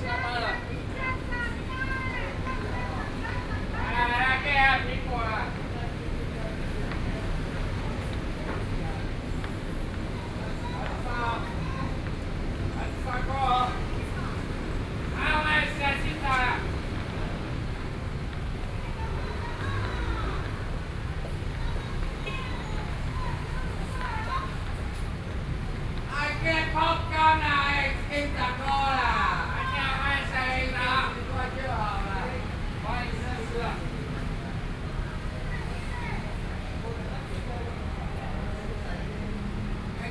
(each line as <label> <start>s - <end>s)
Traffic Noise 0.0s - 40.1s